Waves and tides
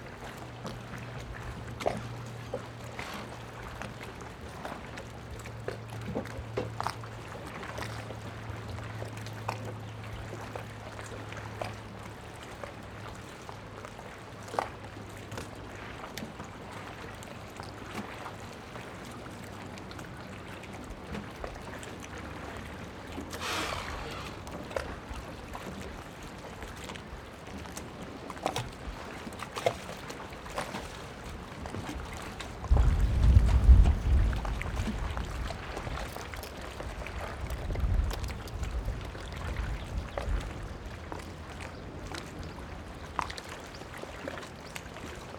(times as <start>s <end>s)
23.3s 24.6s